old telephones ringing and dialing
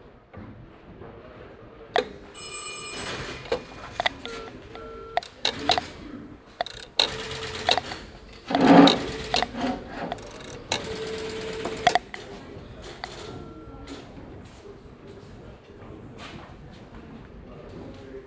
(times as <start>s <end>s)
2.0s 15.6s